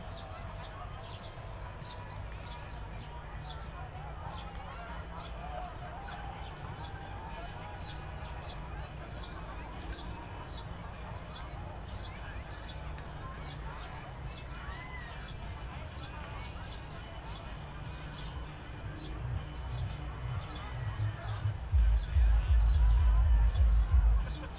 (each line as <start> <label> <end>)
0.0 distant hum of thausands of people 24.5
21.7 deep frequencies of a sound system 24.5